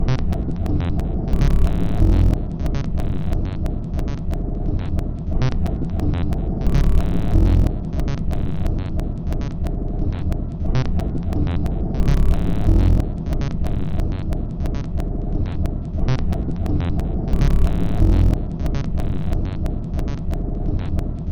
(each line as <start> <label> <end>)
0.0 Drum Loop 21.3